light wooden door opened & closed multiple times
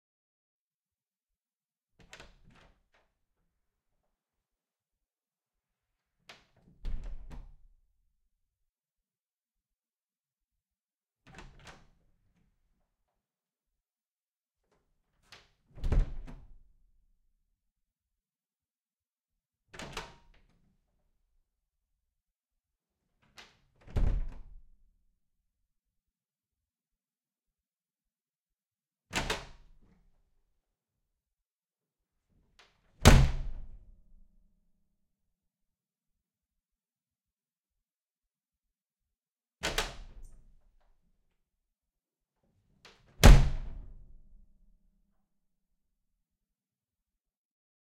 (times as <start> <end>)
6.4 7.7, 11.3 12.0, 15.5 16.6, 23.4 24.7, 39.6 40.6, 43.1 44.3